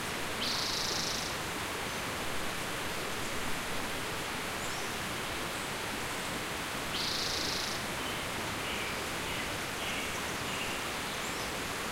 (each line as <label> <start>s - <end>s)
river 0.0s - 11.9s
stream 0.0s - 11.9s